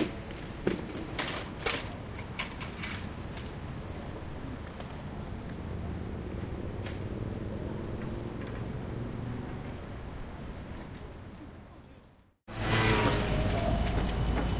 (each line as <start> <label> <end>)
0.0 scooters 11.6
0.0 bikes 14.5
0.0 medium to heavy traffic 14.5
12.5 scooters 14.5